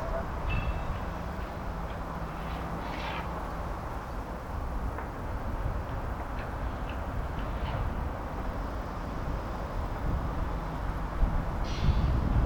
construction site form the distance 0.0 - 12.4

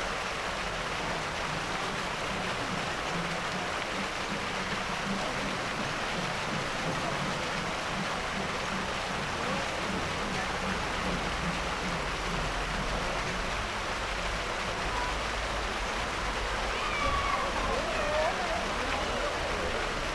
niños 16.6 - 20.1

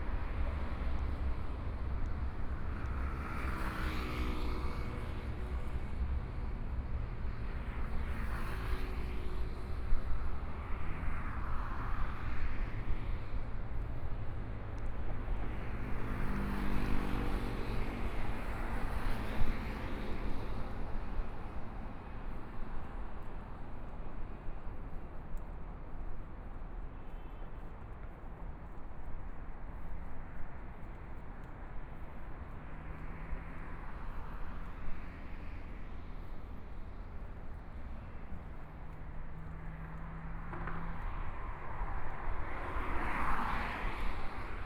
Traffic Sound 10.6 - 44.6
Walking on the bridge 21.3 - 44.3

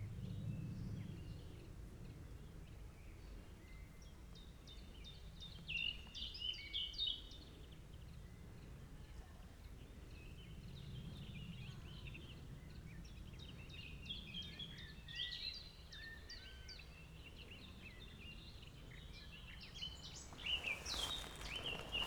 birds 13.9 - 22.0
walking 20.0 - 22.0

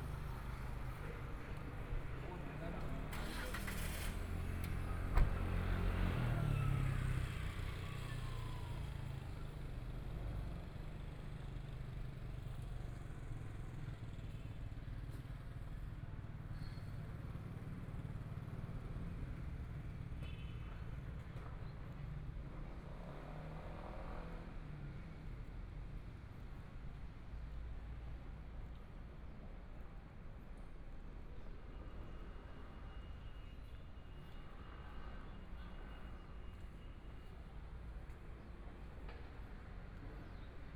Traffic Sound 0.0 - 11.8
Walking in the small streets 0.0 - 40.7

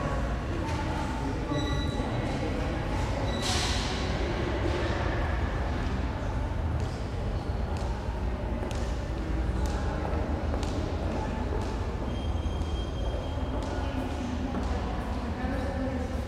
beeps in the reverberant hall 1.5 - 2.4
beeps in the reverberant hall 3.2 - 3.6
beeps in the reverberant hall 11.6 - 14.0

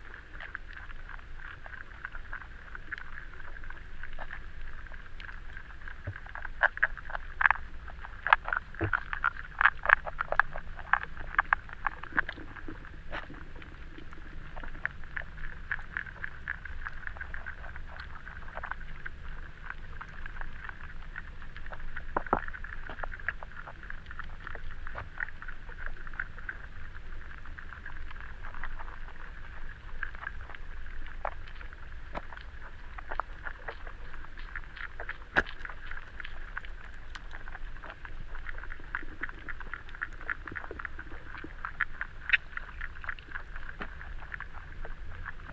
river Venta underwater 0.0 - 45.5

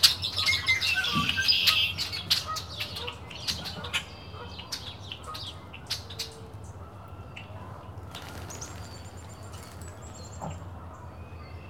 Bird Frenzy 8.0 - 10.8

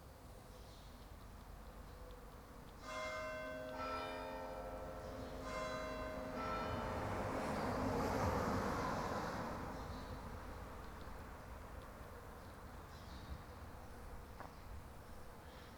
morning birds 8.8 - 15.7

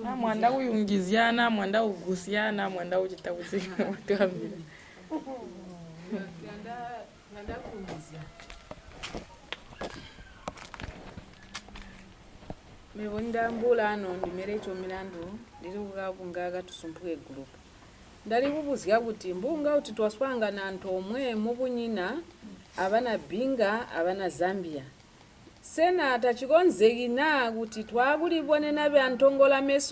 women present their projects 0.0 - 5.2
women present their projects 6.0 - 8.6
women present their projects 12.9 - 17.6
women present their projects 18.2 - 25.0
women present their projects 25.6 - 29.9

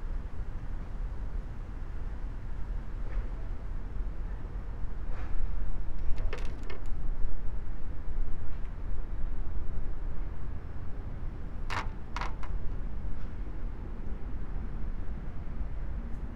wooden sticks, moved by wind 5.0 - 7.2
wooden sticks, moved by wind 11.7 - 12.7

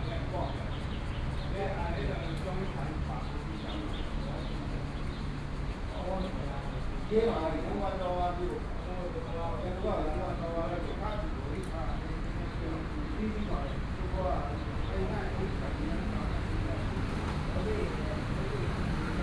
Group of elderly people in the temple Chat 0.0 - 19.2
Traffic Noise 0.0 - 19.2

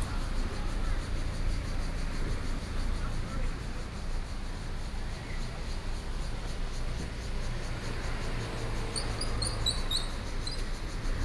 Traffic Sound 0.0 - 3.7

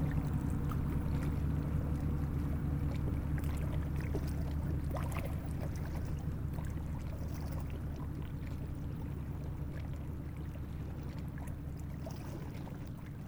enormous industrial boat is passing by 0.0 - 13.2

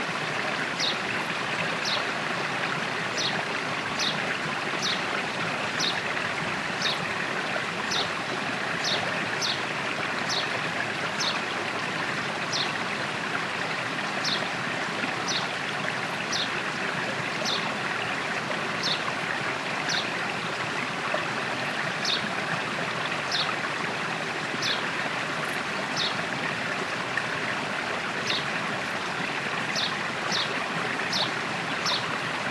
Small river 0.0 - 32.5
birds 29.7 - 32.2

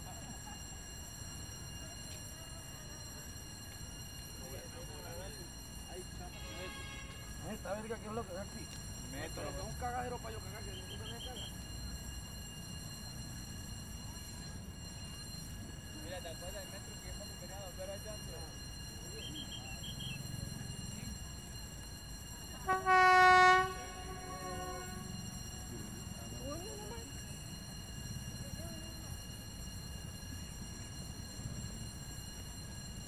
paso del tren de la sabana 0.0 - 33.0

